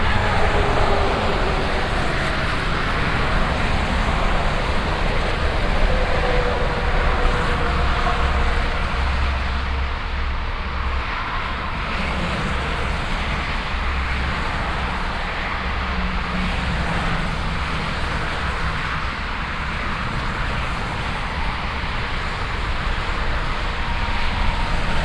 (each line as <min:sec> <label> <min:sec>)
0:00.0 traffic on highway 0:25.0